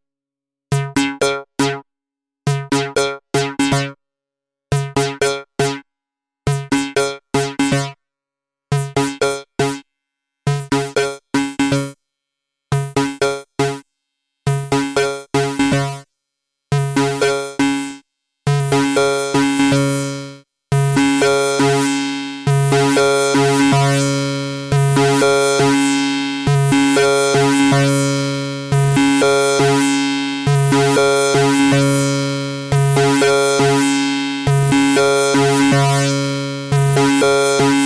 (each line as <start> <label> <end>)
22.7 modular synth 37.8